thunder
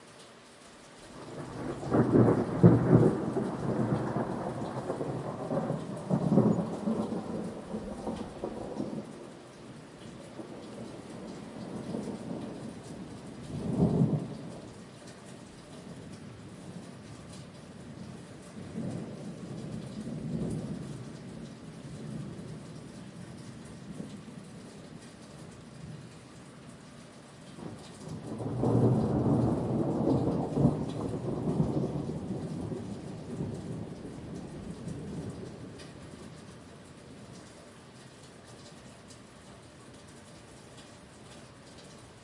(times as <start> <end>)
1.2 9.2, 10.4 14.7, 18.6 22.8, 27.6 36.4